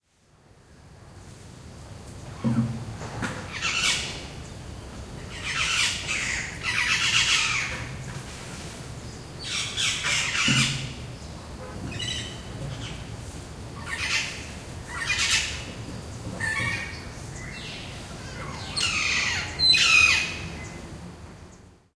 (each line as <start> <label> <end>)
2.1 birds 21.8